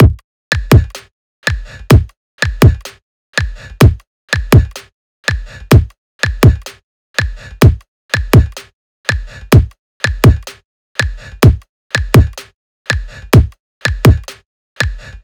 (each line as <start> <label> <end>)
0.0 drums 2.9
3.8 drums 4.8
9.5 drums 10.5